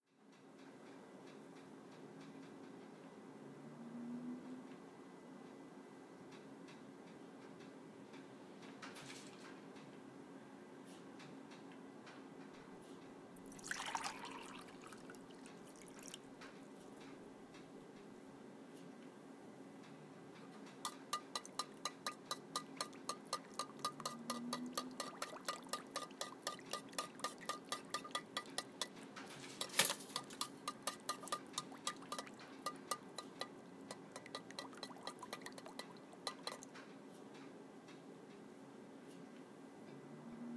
coffee being made 13.4 - 16.2
eggs frying 13.5 - 16.2
eggs frying 20.7 - 29.0
coffee being made 20.8 - 29.0
toaster 29.6 - 30.6
coffee being made 29.6 - 36.8
eggs frying 29.6 - 36.8

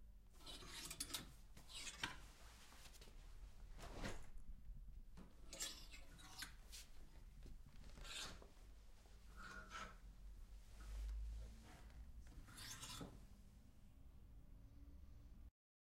clothes hanger closet 0.4 - 4.5
clothes hanger closet 5.2 - 10.1

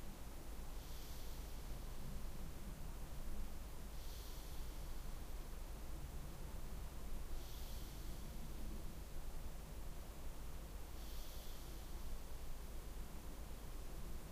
breath 0.8 - 1.9
breath 3.9 - 5.2
breath 7.3 - 8.6
breath 10.9 - 12.5

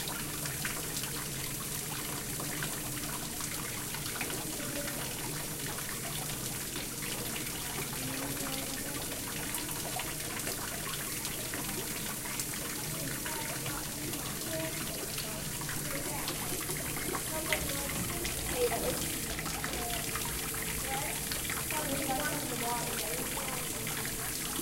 bubbling water 0.0 - 24.6

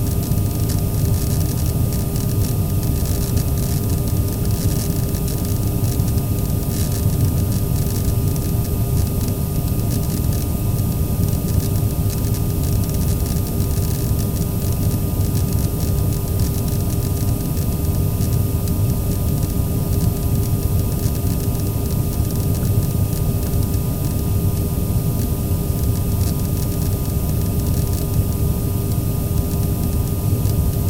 electrical arcing of the corona wire 0.0 - 30.8
propeller 0.0 - 30.8

